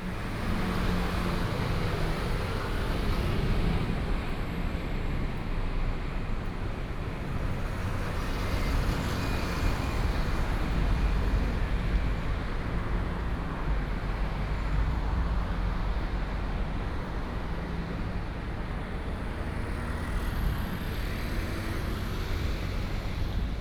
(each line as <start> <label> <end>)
0.0 Traffic noise 23.6
0.0 walking in the Street 23.6